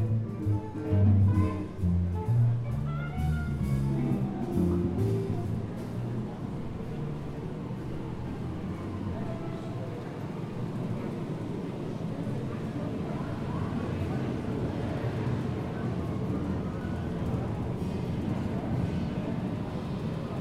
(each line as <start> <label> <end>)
0.0 jazz concert 9.6
0.0 people 20.4